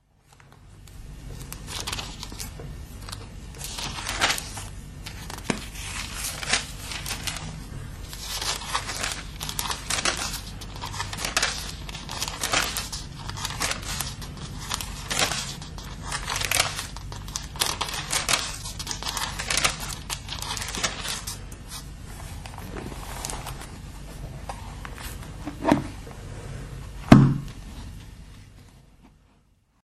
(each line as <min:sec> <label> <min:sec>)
0:00.2 turning pages 0:26.0